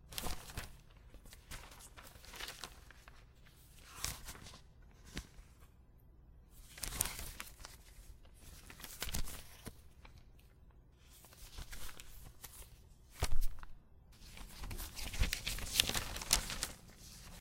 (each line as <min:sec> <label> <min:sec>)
0:00.1 Paper Fluttering 0:03.2
0:06.7 Paper Fluttering 0:09.8
0:11.2 Paper Fluttering 0:17.4